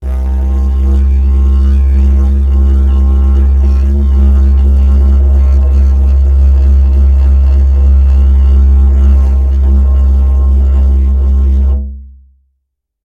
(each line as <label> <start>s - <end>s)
Long didgeridoo tone 0.0s - 12.4s